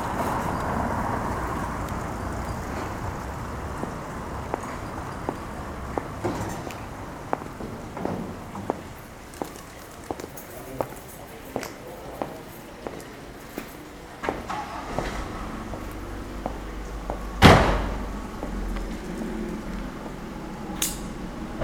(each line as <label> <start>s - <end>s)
sellers are closing the market, packing up their moving booths 0.0s - 21.6s
others talking each other 5.3s - 21.6s